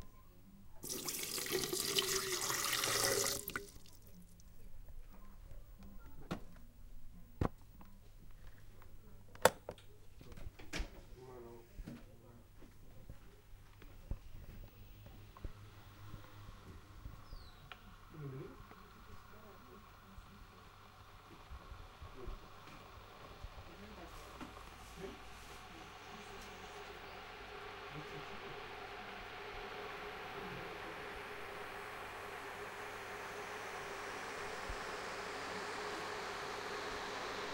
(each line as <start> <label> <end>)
0.8 water heater 4.4
13.8 water heater 37.5